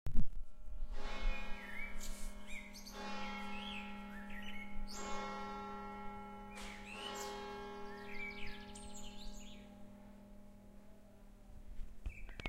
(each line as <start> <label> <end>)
0.5 Church bell 12.2
1.0 Birds 12.4